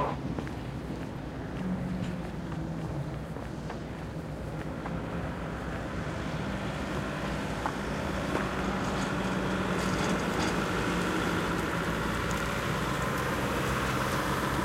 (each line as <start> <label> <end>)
0.0 people are loading/unloading dogs 4.5
0.0 diesel 14.6
0.0 foot steps 14.6
7.6 people are loading/unloading dogs 13.2